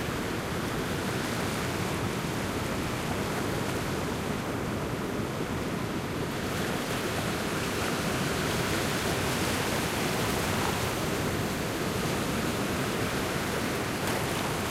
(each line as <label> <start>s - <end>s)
waves crashing on the rock 5.7s - 14.7s